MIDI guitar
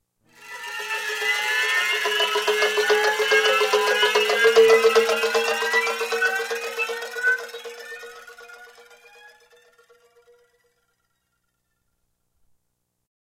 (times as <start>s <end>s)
0.4s 9.5s